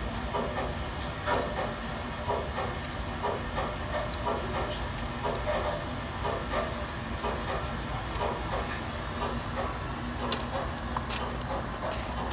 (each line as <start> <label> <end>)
0.0 mechanic inside the building 12.3
10.3 steps on stones by visitors 12.3